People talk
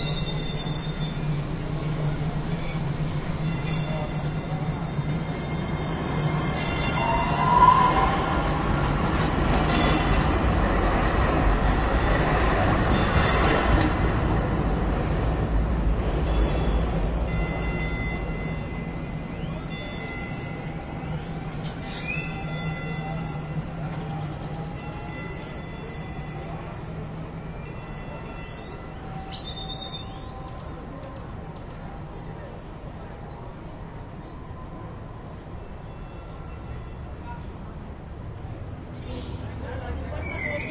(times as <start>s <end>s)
39.0s 40.7s